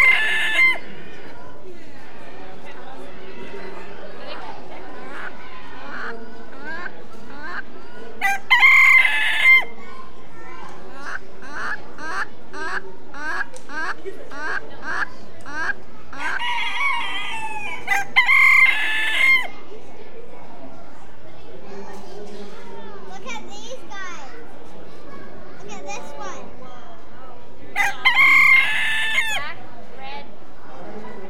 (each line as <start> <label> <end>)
0.0 Chickens 2.1
3.4 Chickens 19.7
27.8 Chickens 29.5